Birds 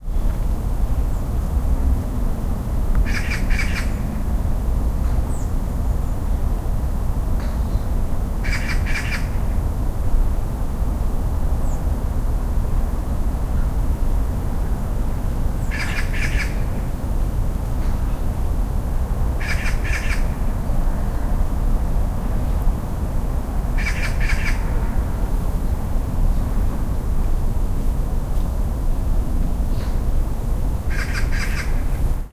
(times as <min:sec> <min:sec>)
0:03.1 0:04.0, 0:07.7 0:09.4, 0:15.6 0:16.7, 0:19.4 0:20.3, 0:23.8 0:24.6, 0:30.9 0:32.0